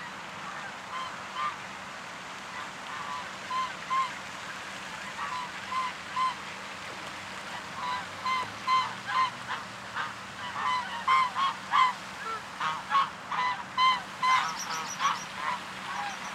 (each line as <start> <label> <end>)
0.0 Ducks 1.7
0.0 swans 16.3
2.4 Ducks 16.3